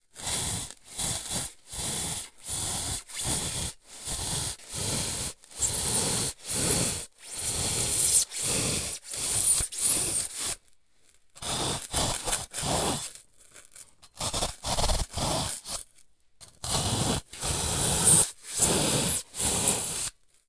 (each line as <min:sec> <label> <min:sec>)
0:00.1 polystyrene 0:15.9
0:16.8 polystyrene 0:20.4